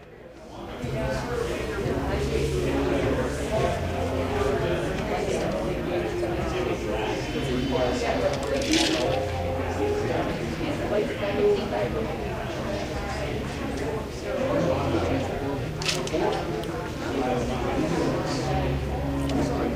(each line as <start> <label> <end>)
0.0 people talking 19.7
1.9 piano playing 13.4